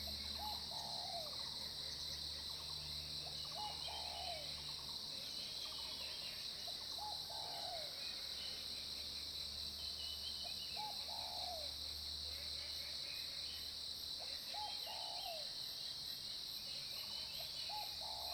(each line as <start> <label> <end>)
0.0 Cicadas sound 18.3
0.0 Insect sounds 18.3